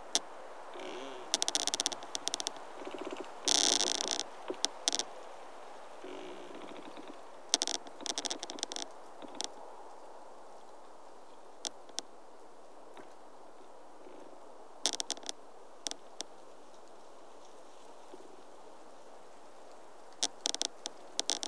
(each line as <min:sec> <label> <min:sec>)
0:00.0 trees rubbing to each other in a wind 0:21.4